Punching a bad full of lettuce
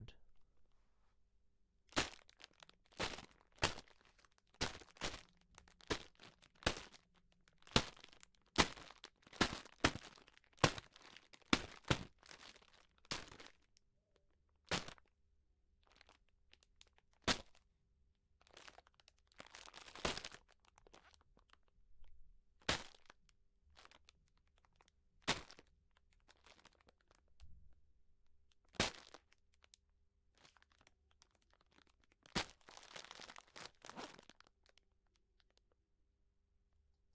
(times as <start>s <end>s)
2.0s 3.9s, 4.6s 7.0s, 7.6s 12.5s, 22.7s 23.0s, 28.8s 29.2s, 32.3s 34.3s